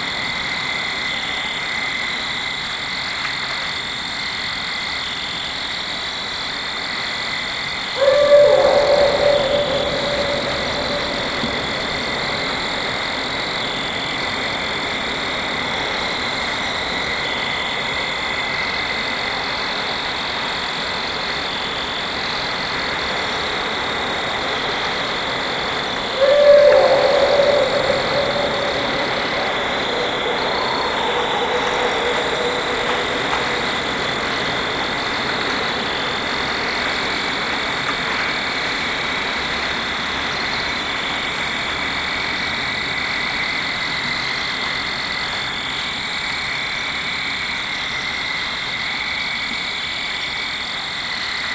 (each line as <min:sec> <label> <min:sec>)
0:00.0 fall field crickets 0:51.5
0:00.0 wind 0:51.5
0:08.0 Barred owls calling 0:14.4
0:25.6 Barred owls calling 0:35.8